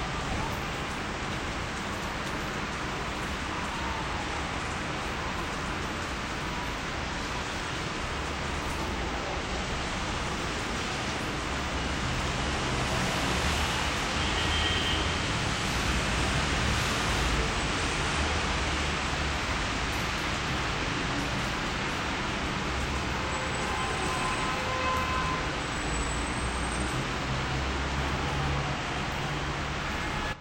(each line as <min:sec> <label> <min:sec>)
0:00.0 traffic 0:30.4
0:12.8 Street horns 0:15.7
0:23.0 Street horns 0:27.4
0:29.2 Street horns 0:30.4